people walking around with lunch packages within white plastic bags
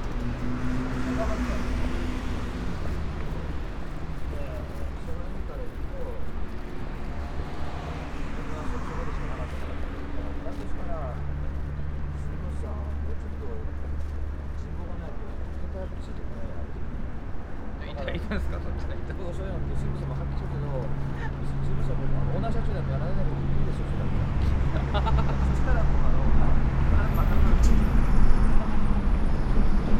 0:00.0 0:21.7

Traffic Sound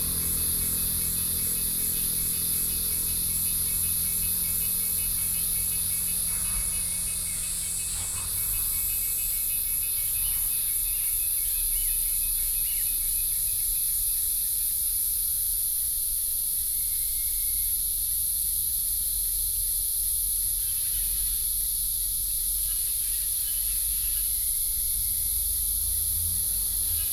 0:00.0 0:11.2, 0:25.2 0:27.1

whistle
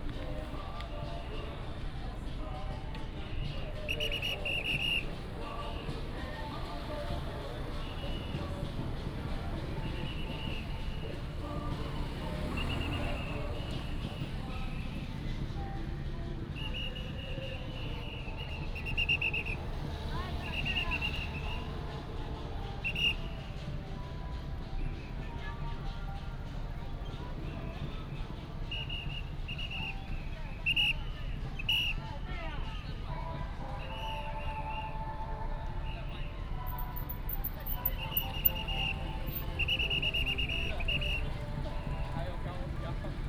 0:03.7 0:06.0, 0:07.4 0:08.8, 0:09.4 0:15.0, 0:16.5 0:23.7, 0:27.1 0:32.1, 0:33.6 0:42.8

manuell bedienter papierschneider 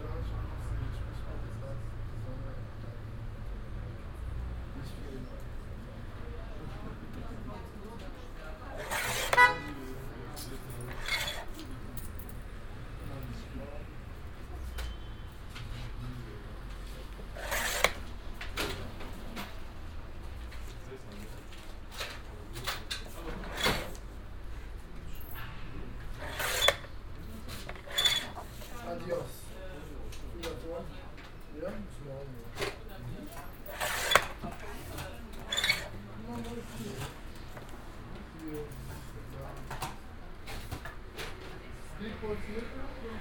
0:07.7 0:11.8, 0:16.2 0:19.4, 0:26.0 0:29.4

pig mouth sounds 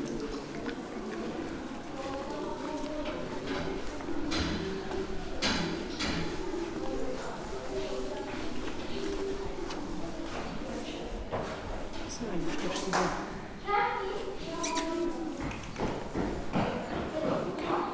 0:00.0 0:06.4, 0:14.4 0:16.1

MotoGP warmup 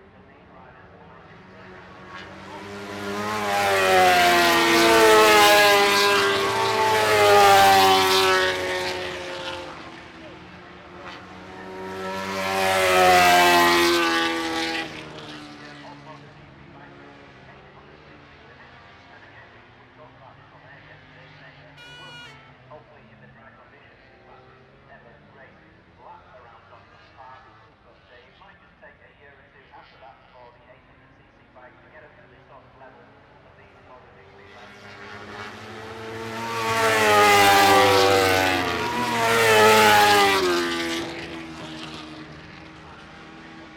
0:34.4 0:43.7

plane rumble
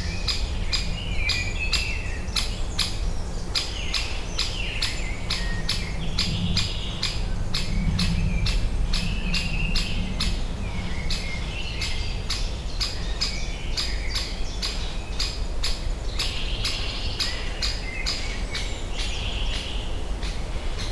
0:05.0 0:13.1

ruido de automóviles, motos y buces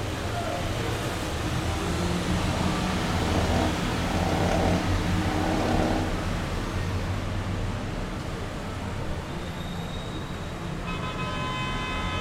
0:00.0 0:07.3

